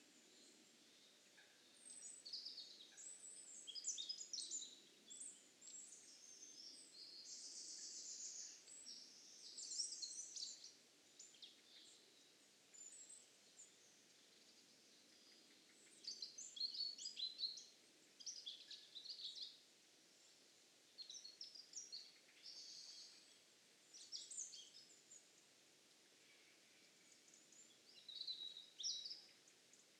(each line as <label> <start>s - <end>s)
birdsong 0.0s - 29.9s